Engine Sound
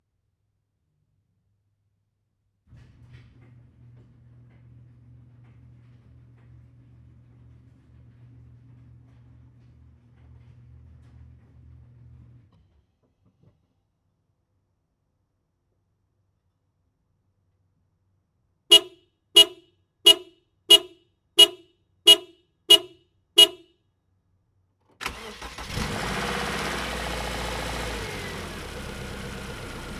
25.0s 29.9s

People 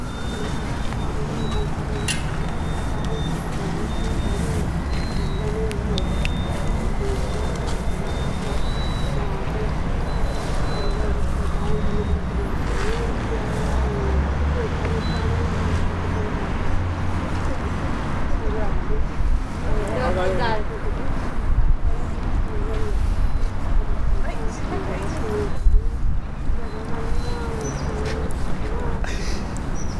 0.0s 16.5s

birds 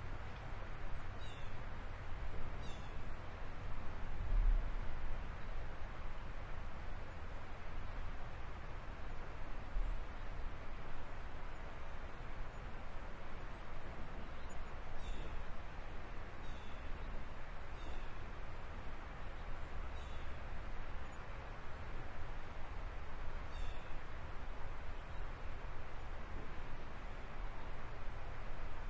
0.9s 1.7s, 2.6s 3.2s, 13.5s 15.7s, 16.4s 18.2s, 19.2s 21.4s, 23.4s 24.1s

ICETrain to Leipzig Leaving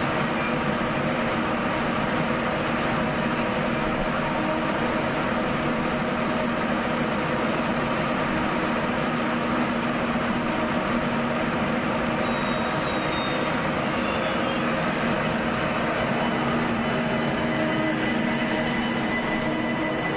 13.3s 20.1s

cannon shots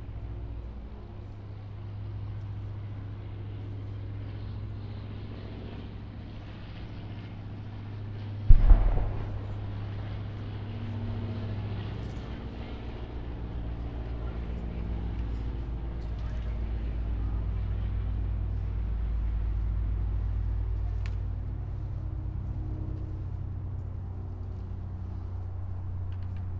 8.5s 10.2s

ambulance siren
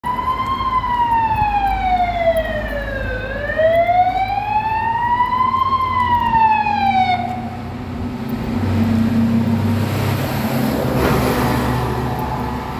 0.0s 7.7s, 11.2s 12.7s

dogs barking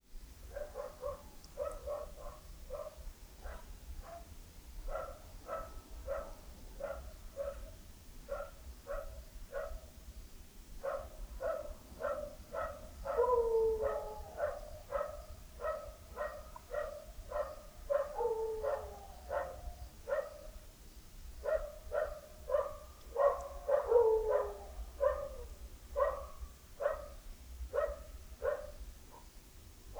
0.6s 4.3s, 10.8s 20.5s, 21.4s 25.4s, 26.0s 27.2s

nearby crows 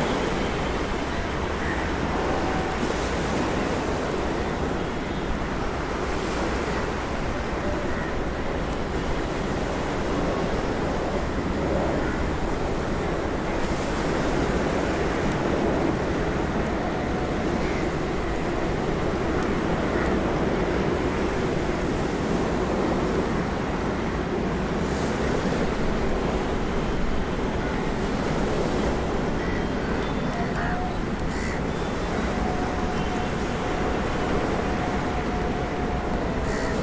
30.6s 31.7s

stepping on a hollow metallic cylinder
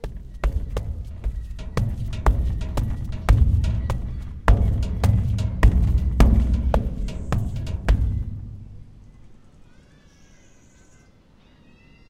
0.0s 9.2s

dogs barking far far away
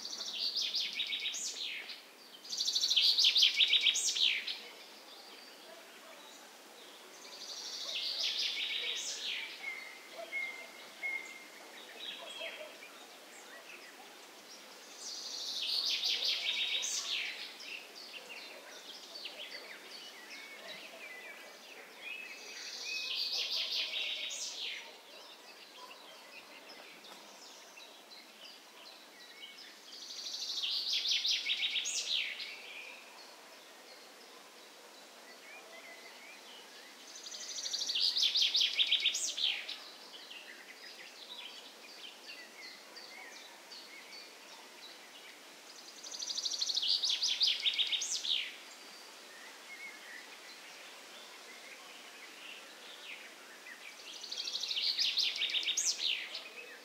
4.2s 29.1s, 31.6s 36.7s, 38.8s 45.0s

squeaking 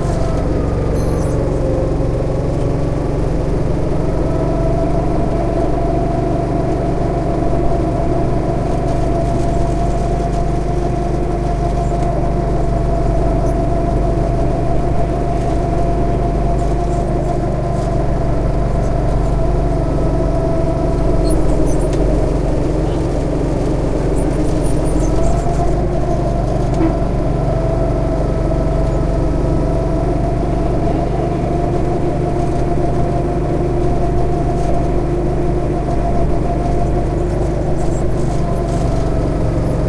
0.0s 1.9s, 20.2s 27.8s

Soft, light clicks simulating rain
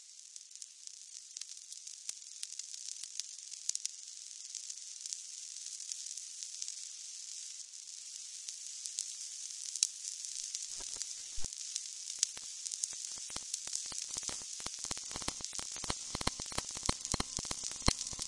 10.6s 18.2s

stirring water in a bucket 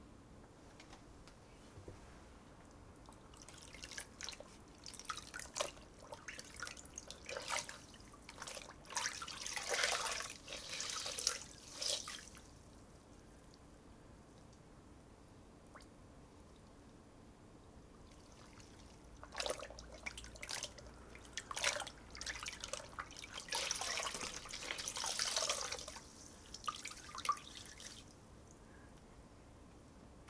3.0s 12.5s, 18.2s 28.1s

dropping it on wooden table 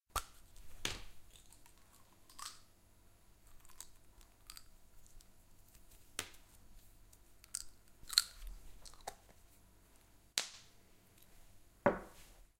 11.9s 12.2s

